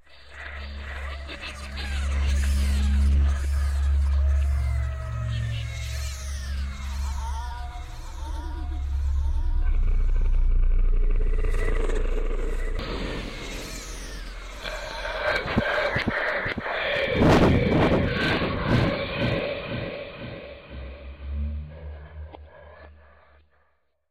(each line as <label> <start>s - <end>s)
Scary Demon Haunting Sound 0.0s - 23.6s